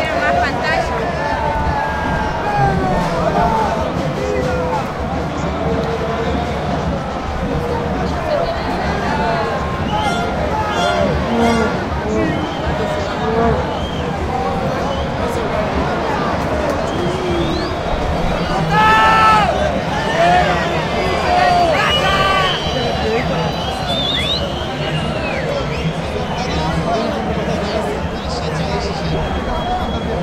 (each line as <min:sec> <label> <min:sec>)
0:00.2 People shouting 0:05.0
0:08.9 People shouting 0:13.7
0:18.4 People shouting 0:23.3